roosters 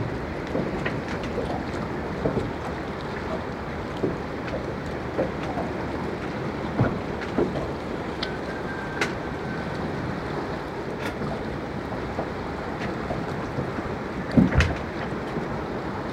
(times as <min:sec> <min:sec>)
0:08.2 0:09.8